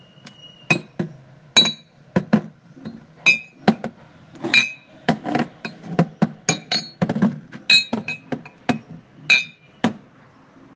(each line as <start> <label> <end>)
2.8 glasses 9.9